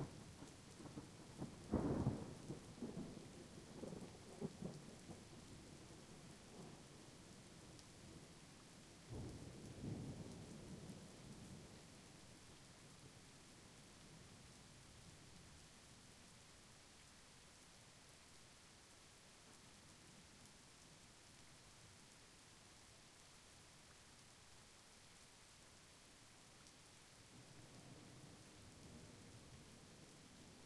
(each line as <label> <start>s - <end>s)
rain 0.0s - 30.6s